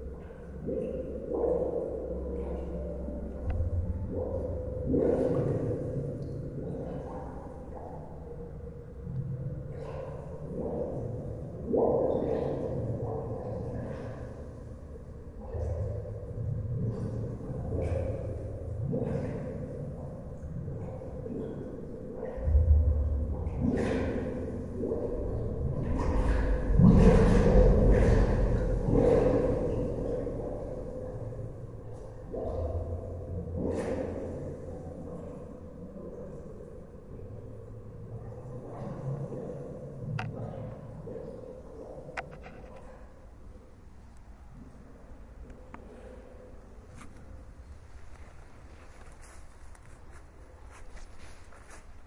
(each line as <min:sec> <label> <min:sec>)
0:22.1 Water Running Underground 0:36.5
0:46.8 Water Running Underground 0:52.0